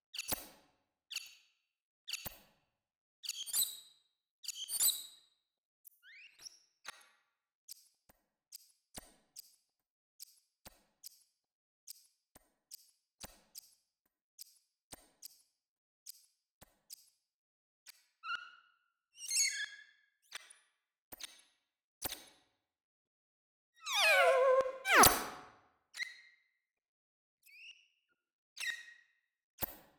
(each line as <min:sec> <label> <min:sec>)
0:23.9 glitchy alien tones 0:25.4